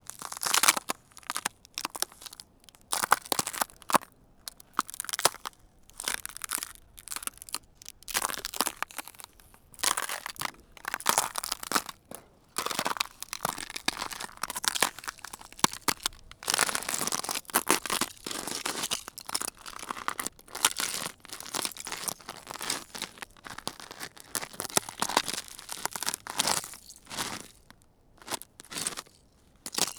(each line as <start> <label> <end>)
0.1 Steps on ice 29.9
0.1 ice cracking 19.4